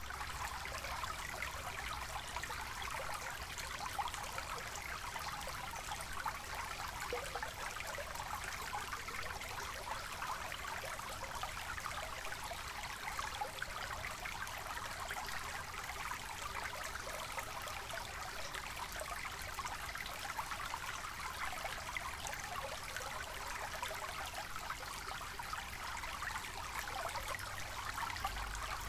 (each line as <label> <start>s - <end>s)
little creek 0.0s - 28.8s